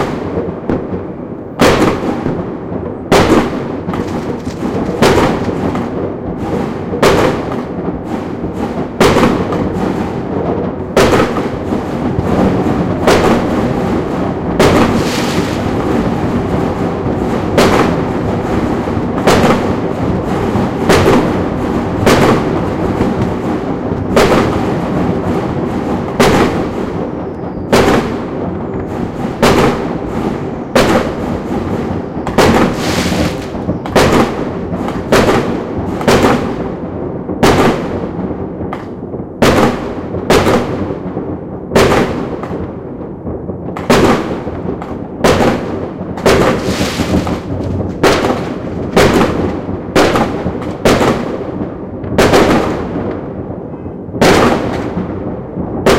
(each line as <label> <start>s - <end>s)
Firecrackers 0.0s - 55.9s
far away aerial bombs 0.0s - 55.9s